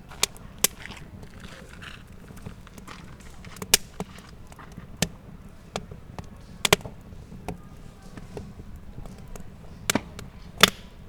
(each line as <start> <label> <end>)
0.0 Campfire 11.0